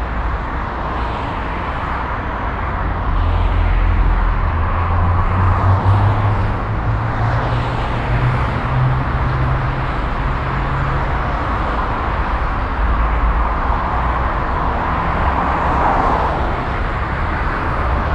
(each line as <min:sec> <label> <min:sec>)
0:00.0 traffic 0:18.1